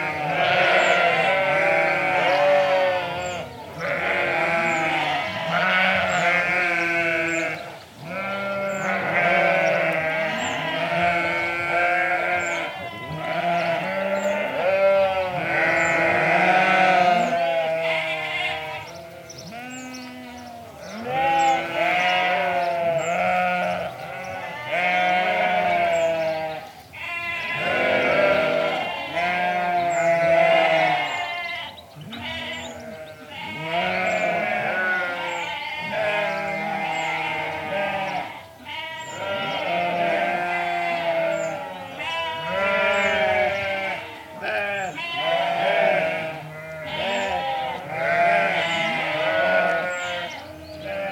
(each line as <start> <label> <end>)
0.0 Sheep all baaing 51.1
0.2 sparrows 51.1